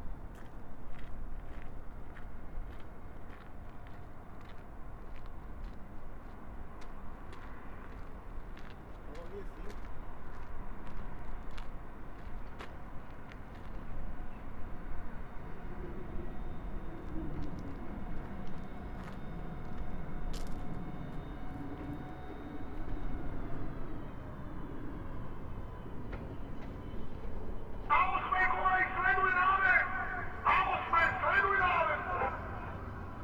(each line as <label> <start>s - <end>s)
train stops, honks the horn and pushes the carriages back 0.0s - 33.2s
commands via station loudspeaker 27.8s - 33.2s
commands for the engine engineer can be heard through the radio 27.8s - 33.2s